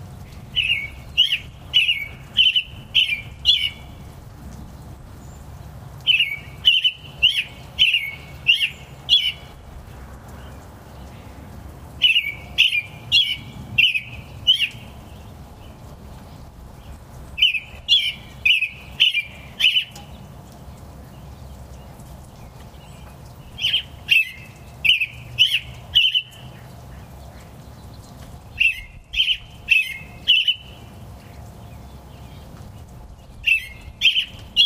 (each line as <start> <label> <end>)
0.0 rain trickling down a nearby spout 34.6
0.0 robin sings 34.6